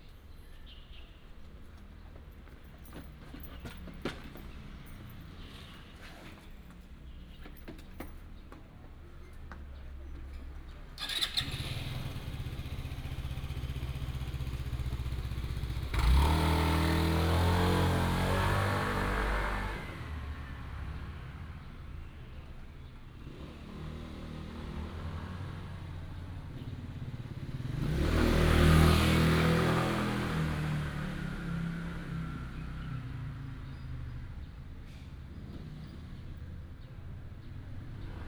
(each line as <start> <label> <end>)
0.0 Traffic sound 38.2